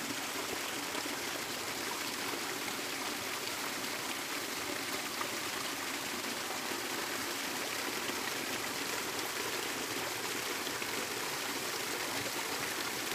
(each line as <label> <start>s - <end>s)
waterfall and creek 0.0s - 13.1s